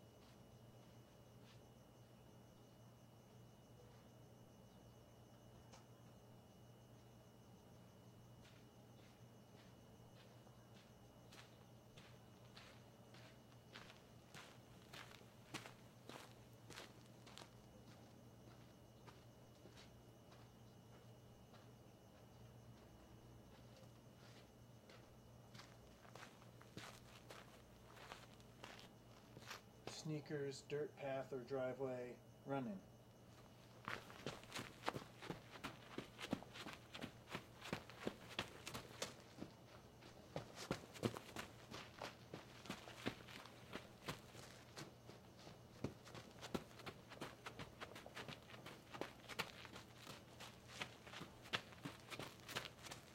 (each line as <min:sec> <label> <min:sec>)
0:00.0 Sneakers walking on hard packed dirt 0:01.9
0:07.3 Sneakers walking on hard packed dirt 0:30.1
0:32.9 Sneakers walking on hard packed dirt 0:53.1
0:33.3 Running 0:53.1